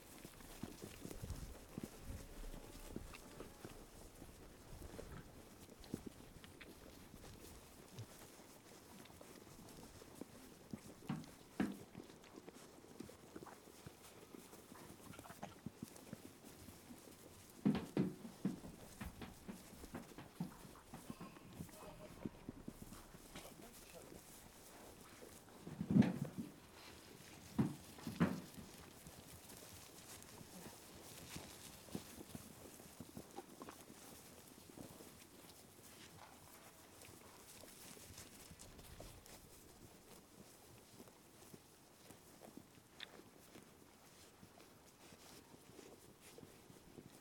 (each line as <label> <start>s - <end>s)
sheep greedily eating its food so fast 0.0s - 47.2s
sheep munching their food 0.0s - 47.2s
Shetland sheep entering their pen 0.0s - 8.3s
Shetland sheep entering their pen 9.0s - 12.7s
Shetland sheep entering their pen 14.7s - 40.2s
kicking the food trough 17.6s - 23.5s
talking to the sheep 21.0s - 22.4s